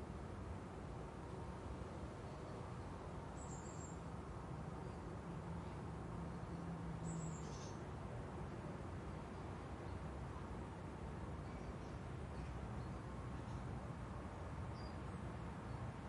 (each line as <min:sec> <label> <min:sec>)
0:00.0 light traffic 0:16.0
0:06.4 birds 0:07.9